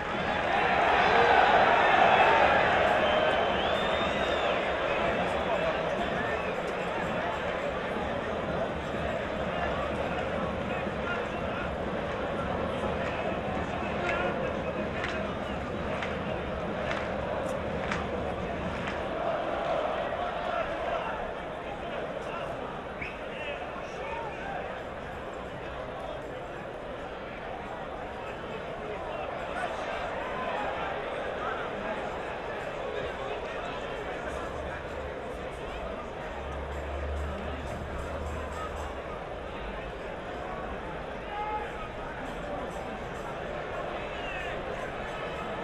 soccer match 0.0 - 45.6

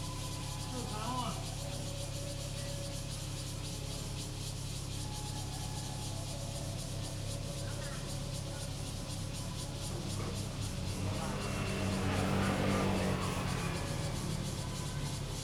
Cicadas 0.0 - 15.4
traffic sound 5.4 - 15.4

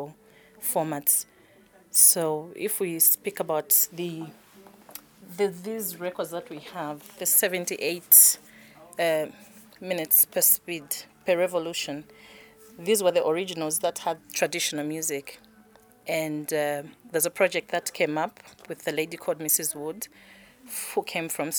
conversations 0.0 - 21.5

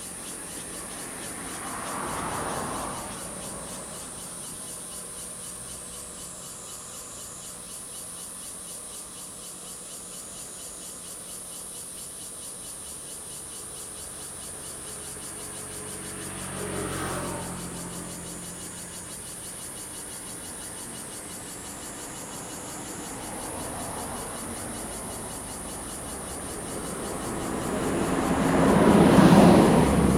Traffic Sound 0.0 - 8.4
Cicadas 0.0 - 30.1
Traffic Sound 12.7 - 30.1

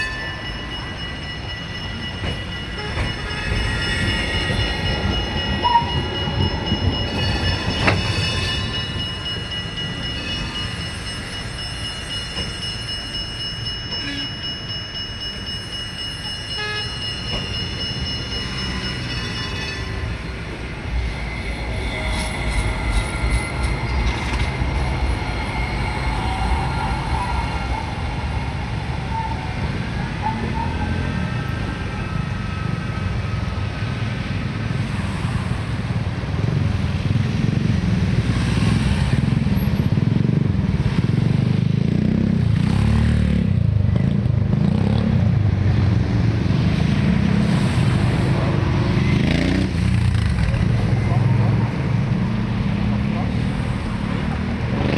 cars 0.0 - 54.9
trams 0.0 - 54.9
motorcycles 34.0 - 54.9

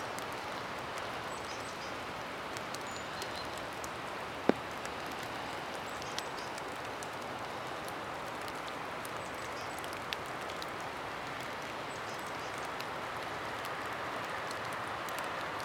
Light rain under an umbrella 0.0 - 15.6

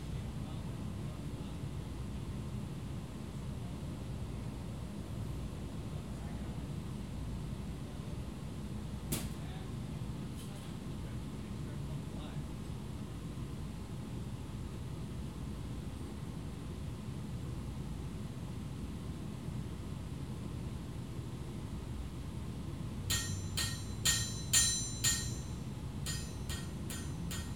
drone of various machinery 23.1 - 27.5
tinging of hammer on anvil 23.1 - 27.5

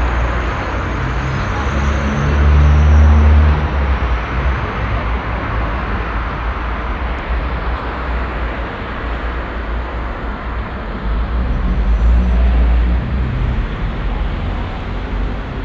people passing by 0.0 - 15.6
traffic 0.0 - 15.6

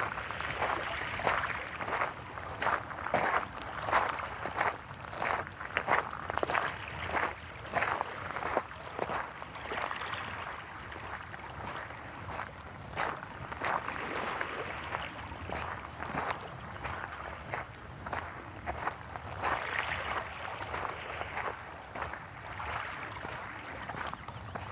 Steps to pebble beach 0.0 - 24.7

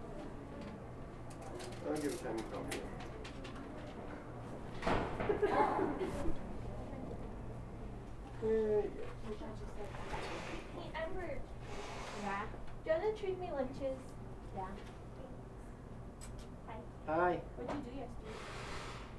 conversations from mr. vaughn's coworkers 0.5 - 4.6
conversations from mr. vaughn's coworkers 5.7 - 18.9

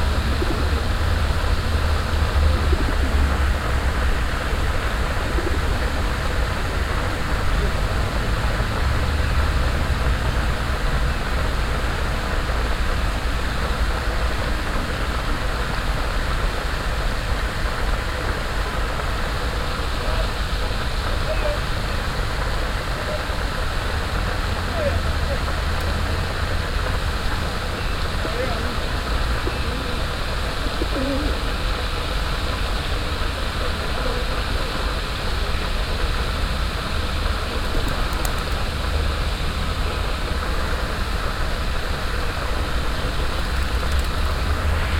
permanent white noise of a water fountain 0.0 - 44.9
pigeons flying away in small groups 37.3 - 38.9
pigeons flying away in small groups 43.1 - 44.6

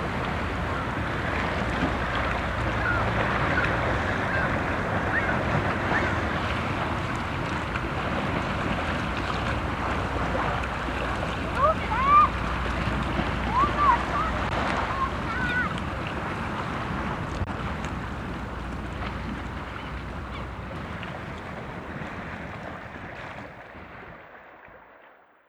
seagull crying in the wind 0.0 - 7.0
water waves on the sandy beach 0.0 - 25.1
motor boat 0.0 - 25.4
seagull crying in the wind 11.5 - 12.4
seagull crying in the wind 13.1 - 16.4
seagull crying in the wind 18.0 - 22.8

